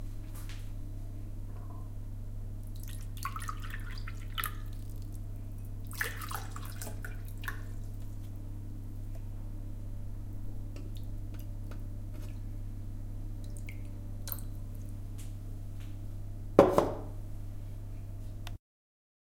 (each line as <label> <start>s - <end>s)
pouring water into glasses 2.6s - 5.2s
pouring water into glasses 5.8s - 8.0s